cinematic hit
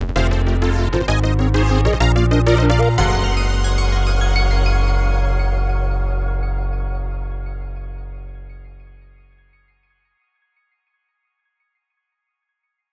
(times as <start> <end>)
0.0 9.2